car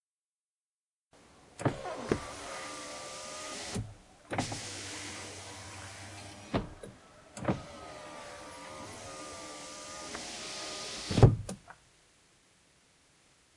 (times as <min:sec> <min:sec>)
0:01.2 0:11.5